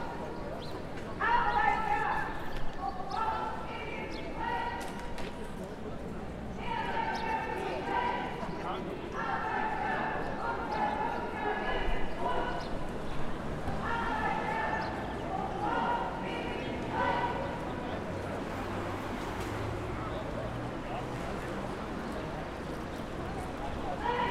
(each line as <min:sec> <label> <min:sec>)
0:00.0 People are chatting 0:24.3
0:09.1 shout slogans 0:12.8
0:13.7 shout slogans 0:17.8
0:24.0 shout slogans 0:24.3